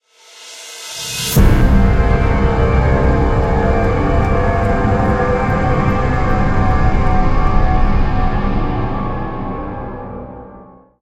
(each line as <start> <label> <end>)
1.0 stab 8.9
1.4 synth 10.7